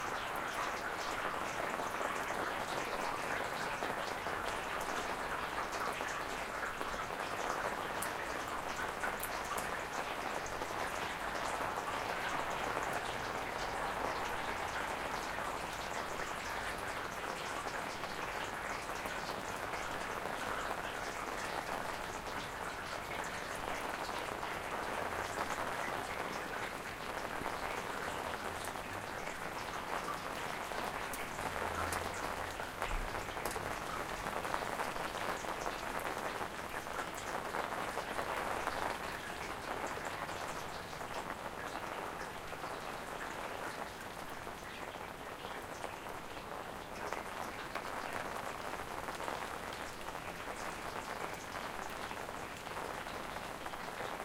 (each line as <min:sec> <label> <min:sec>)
0:00.0 rain 0:54.2
0:00.0 wind 0:54.2